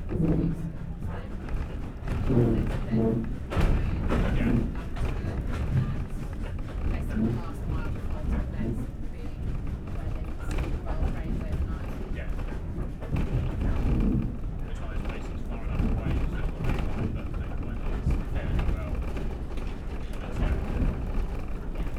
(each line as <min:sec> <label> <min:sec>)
0:00.0 Steam Train 0:21.9
0:00.0 creaking carriage 0:21.9